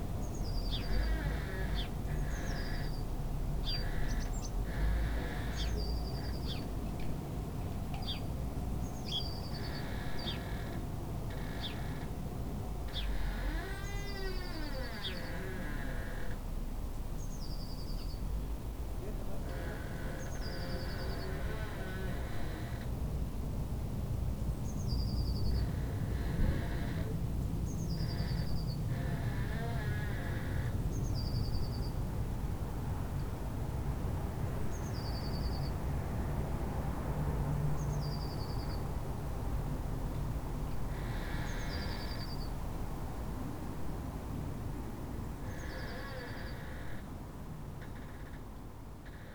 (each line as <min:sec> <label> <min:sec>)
0:00.0 traffic noise 0:49.3
0:00.2 birds 0:07.2
0:07.9 birds 0:12.2
0:12.8 birds 0:16.4
0:19.0 birds 0:22.9
0:24.6 birds 0:32.0
0:40.7 birds 0:42.6
0:45.4 birds 0:47.1